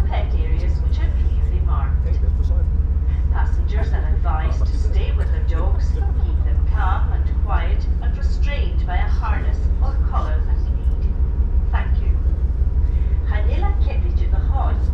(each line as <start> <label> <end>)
0.0 background chatter 11.0
0.0 Safety announcements in English and Gaelic 12.2
13.1 Safety announcements in English and Gaelic 14.9